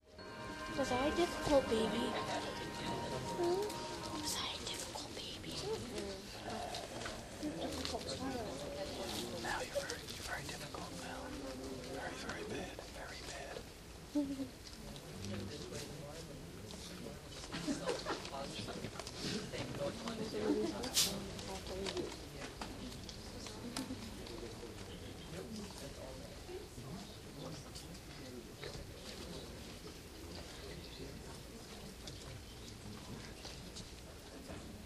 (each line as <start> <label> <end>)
0.0 Audience ambiance 5.9
2.2 whisper 8.1
8.8 whisper 13.6